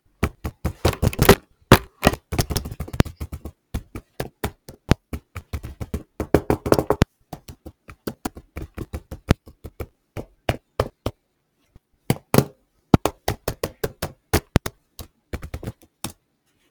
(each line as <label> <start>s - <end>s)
banging on my keyboard smash 0.9s - 2.6s